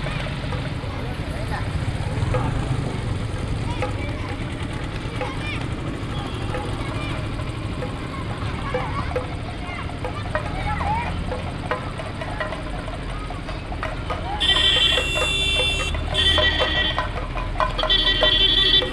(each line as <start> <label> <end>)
0.0 Children 18.9
0.0 percussions 18.9
14.4 horns 17.1